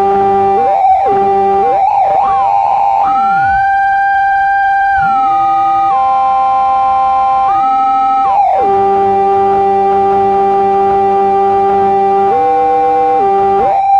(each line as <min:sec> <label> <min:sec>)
0:00.0 feedback loop 0:13.9